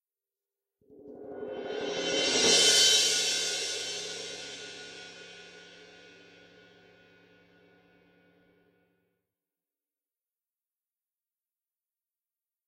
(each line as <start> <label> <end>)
1.4 cymbal roll loud 7.1